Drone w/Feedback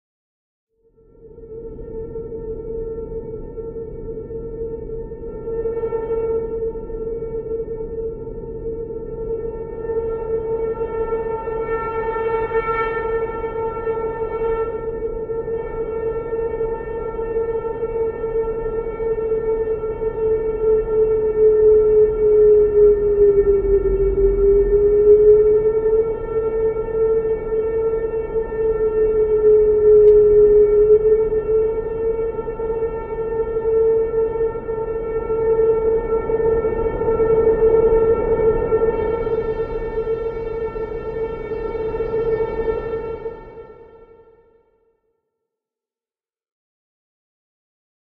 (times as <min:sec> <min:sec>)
0:21.6 0:43.9